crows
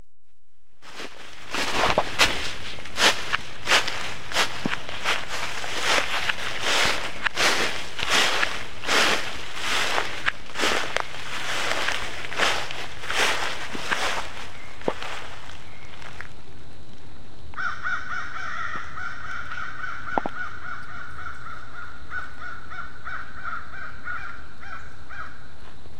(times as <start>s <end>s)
17.6s 25.4s